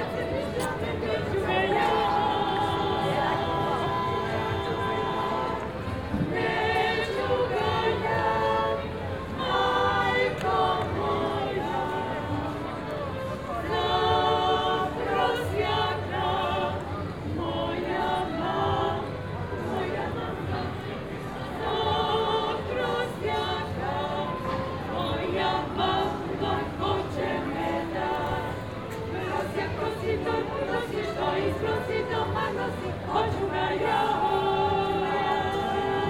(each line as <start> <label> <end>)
0.0 choir 36.0
0.0 some other band on the other square in the background 36.0